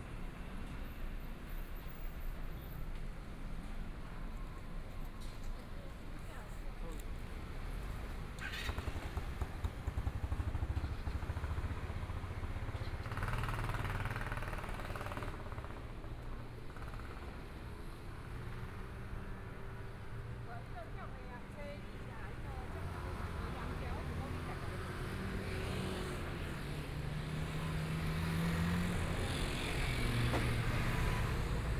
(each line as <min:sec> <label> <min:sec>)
0:00.0 Traffic Sound 0:31.7
0:00.0 Walking on the street 0:31.7
0:20.4 Various shops voices 0:27.0